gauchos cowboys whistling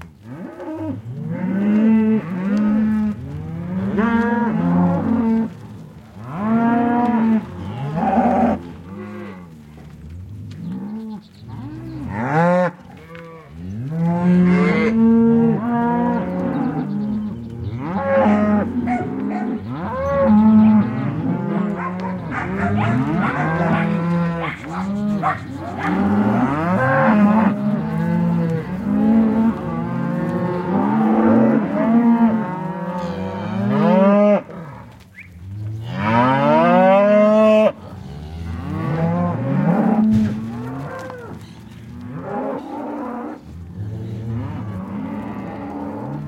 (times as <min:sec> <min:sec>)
0:24.4 0:26.3, 0:35.1 0:35.4